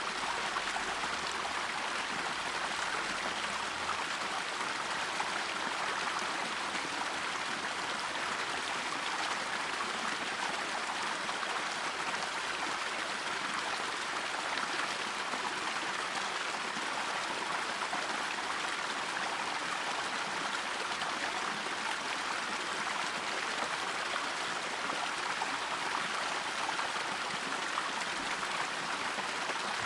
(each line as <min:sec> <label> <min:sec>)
0:00.0 water flows creek 0:29.8